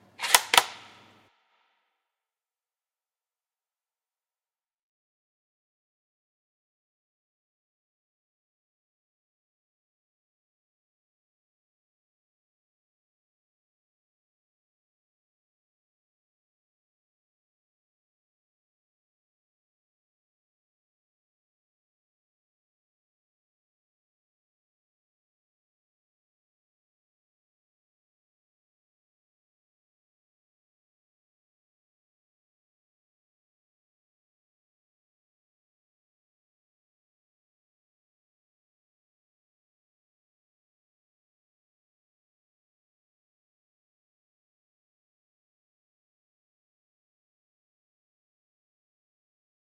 bolt being driven forward 0.1 - 1.0

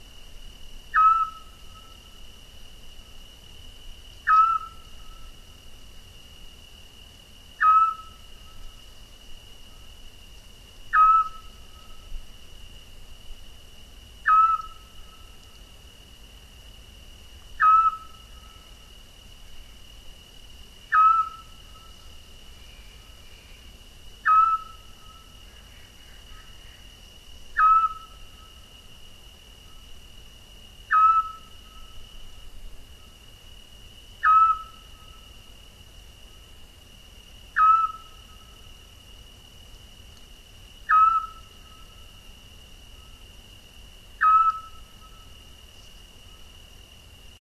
Scops Owl 0.9 - 2.0
Scops Owl 4.2 - 5.3
Scops Owl 7.6 - 8.6
Scops Owl 10.9 - 12.1
Scops Owl 14.2 - 15.4
Scops Owl 17.6 - 18.7
Scops Owl 20.9 - 22.1
Scops Owl 24.2 - 28.5
Scops Owl 30.9 - 32.0
Scops Owl 34.2 - 35.2
Scops Owl 37.6 - 38.6
Scops Owl 40.9 - 42.0
Scops Owl 44.2 - 45.3

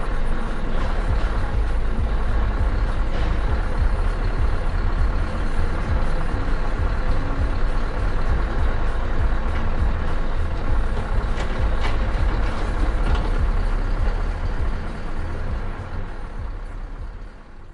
crane 0.0 - 17.7
truck 0.0 - 17.7

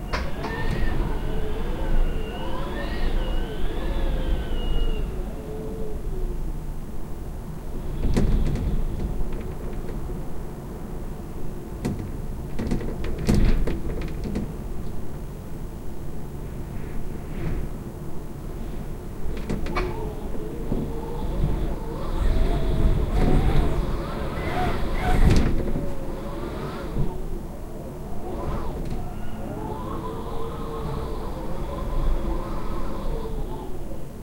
Wind howling around the windows of a highrise 0.0 - 34.2
Windows rattling 19.2 - 27.2

